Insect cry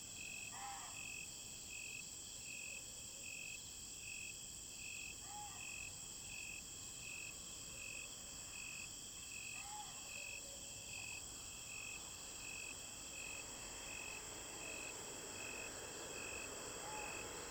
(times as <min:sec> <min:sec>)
0:00.2 0:01.3, 0:05.2 0:05.9, 0:09.3 0:17.5